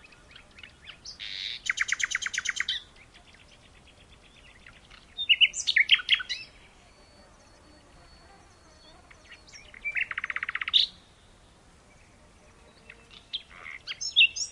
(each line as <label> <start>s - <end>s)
Nightingale song 0.0s - 14.5s
Warbler 0.0s - 14.5s
insects flying around 0.0s - 14.5s